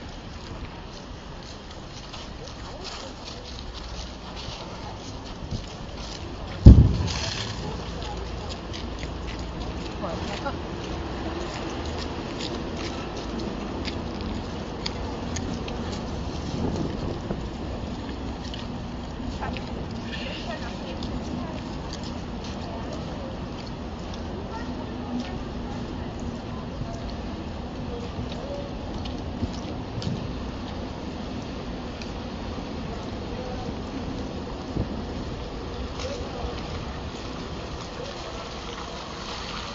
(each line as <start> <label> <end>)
6.6 deep humming sound of the floes crashing onto the street 8.2